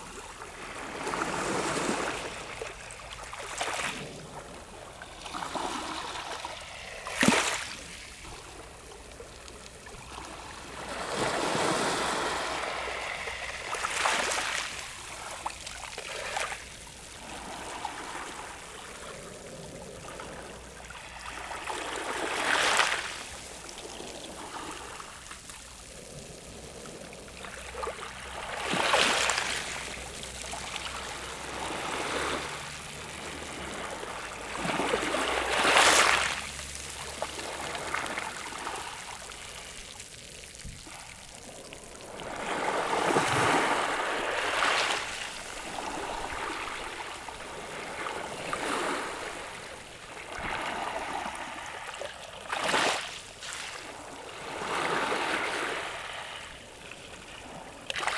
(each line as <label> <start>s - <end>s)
waves lapping on the pebbles 0.0s - 58.1s